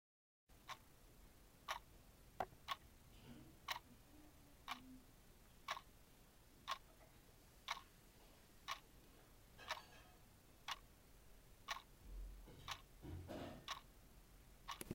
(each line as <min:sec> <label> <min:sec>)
0:00.5 typical clock 0:01.0
0:01.6 typical clock 0:03.9
0:04.6 typical clock 0:05.0
0:05.6 typical clock 0:06.0
0:06.6 typical clock 0:07.9
0:08.6 typical clock 0:14.9